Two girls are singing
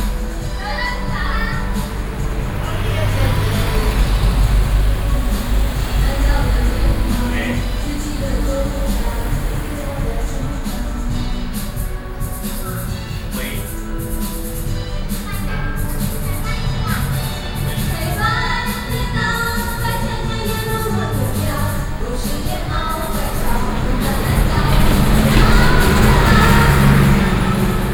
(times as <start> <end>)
15.3 27.9